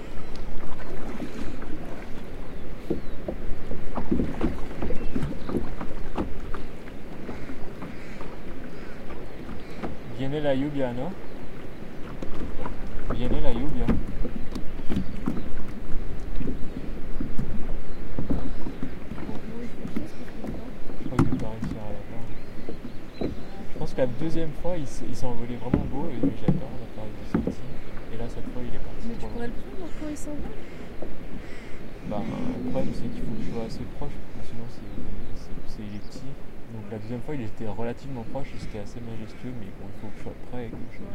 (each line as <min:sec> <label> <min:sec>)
0:00.0 canoe 0:41.1
0:00.0 water 0:41.1
0:00.0 wind 0:41.1
0:04.0 pelican 0:10.2
0:29.0 pelican 0:33.8